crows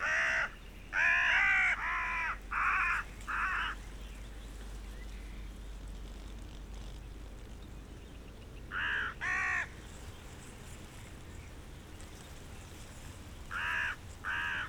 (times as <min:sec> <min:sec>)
0:00.0 0:03.8, 0:08.7 0:09.8, 0:13.5 0:14.6